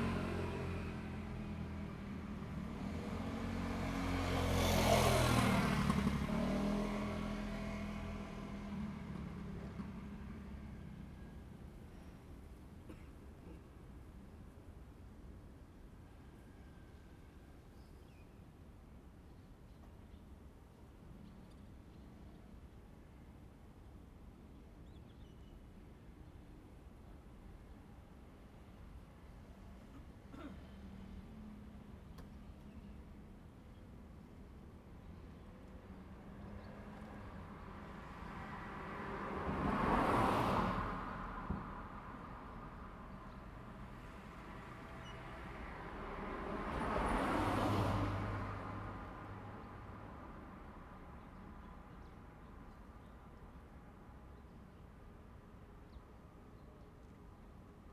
0.0s Traffic sound 14.0s
29.6s Traffic sound 55.5s

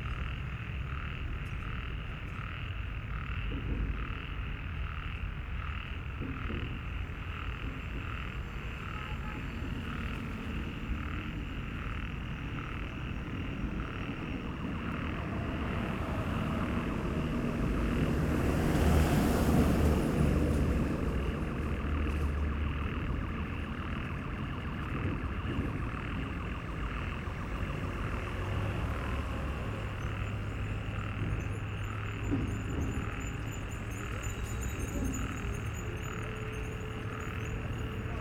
0.0s Busy traffic 38.2s
0.0s Distant heavy construction work 38.2s
0.0s Frogs in a small stream are singing, discontinuously 38.2s
19.6s alarm sounds 38.2s

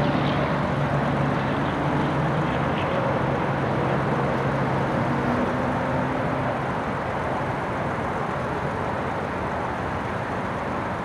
0.0s cars and trucks can be heard pulling in and out 11.0s
0.0s roar of traffic is constant 11.0s

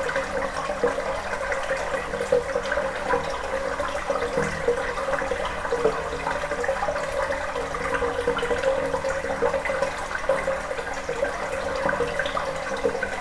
0.0s water is flowing inside 13.2s

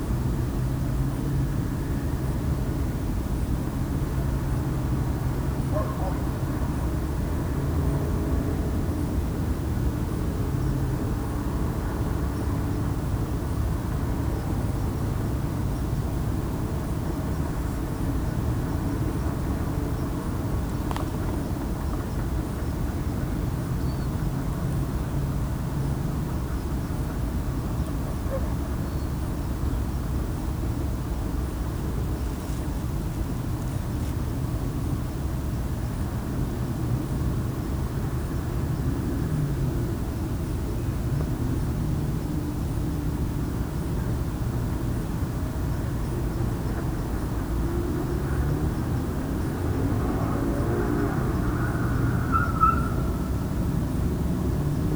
49.8s screech of a tyre 53.6s

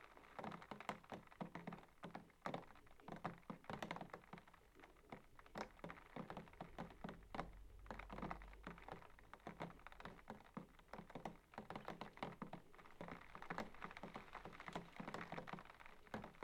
0.0s Rain On The Window 16.4s

